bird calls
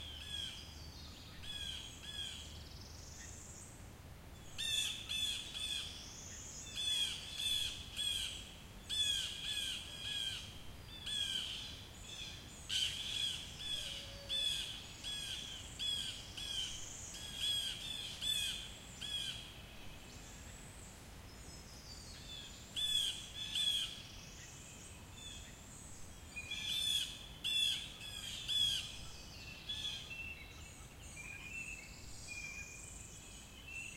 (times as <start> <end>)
4.4 20.5, 21.6 24.6, 26.4 33.9